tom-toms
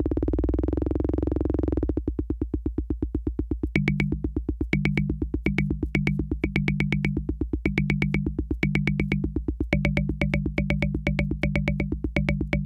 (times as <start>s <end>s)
3.7s 12.6s